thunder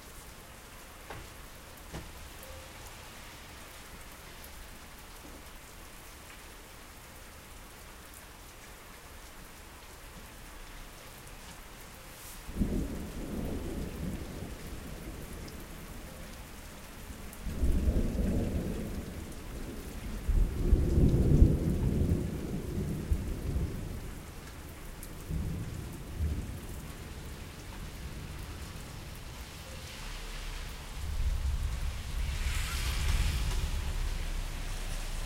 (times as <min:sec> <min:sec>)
0:12.5 0:15.5, 0:29.9 0:35.2